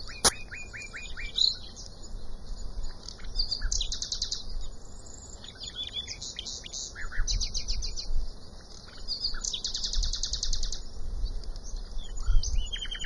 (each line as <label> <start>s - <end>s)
two nightingales 0.0s - 10.9s
two nightingales 11.6s - 13.0s